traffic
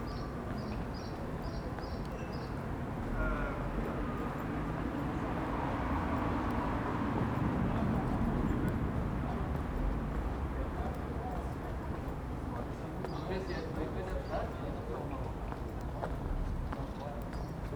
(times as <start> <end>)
0.0 12.5